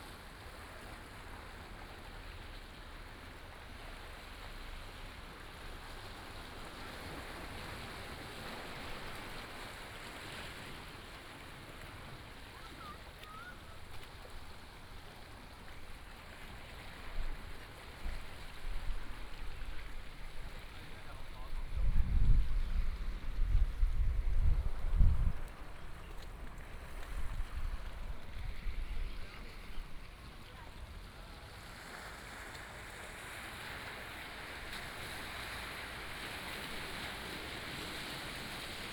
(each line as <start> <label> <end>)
0.0 waves 38.9